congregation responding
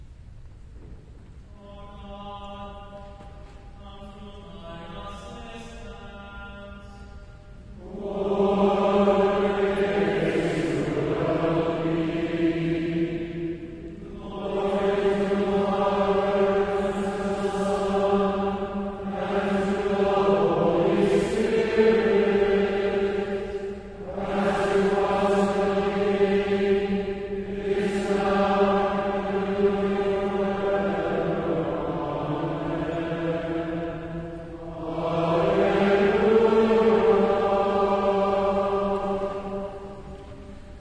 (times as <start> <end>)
7.8 39.9